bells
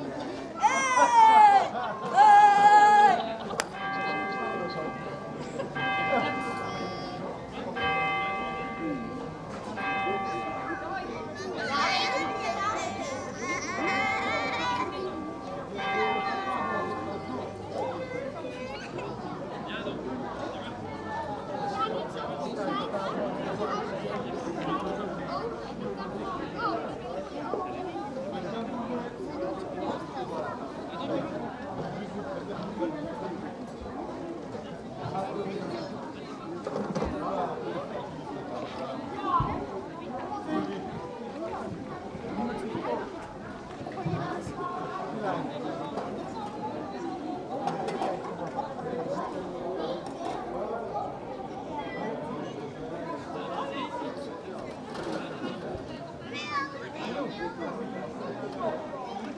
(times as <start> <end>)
3.7 18.3